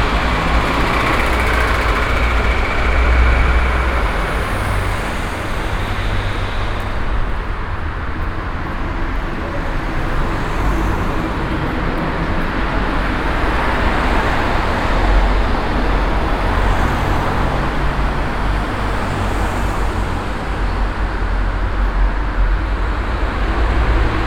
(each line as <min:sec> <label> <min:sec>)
0:00.0 traffic under bridge 0:24.2